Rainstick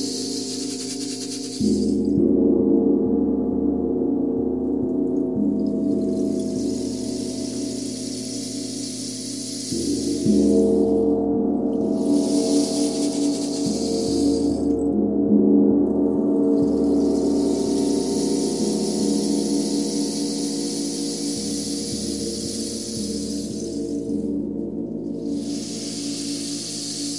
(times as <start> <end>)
0.0 2.1, 5.6 11.1, 11.8 14.8, 16.5 24.3, 25.1 27.1